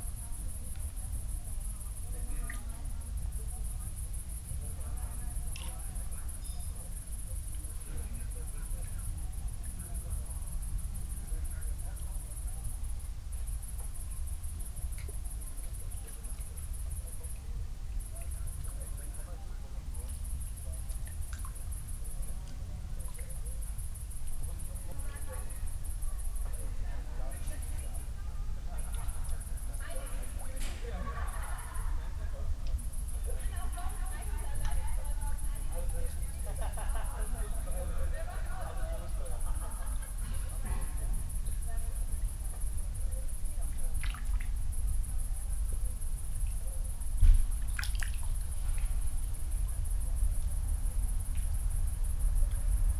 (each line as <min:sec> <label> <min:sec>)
0:43.9 fish are still jumping 0:44.5
0:47.4 fish are still jumping 0:49.0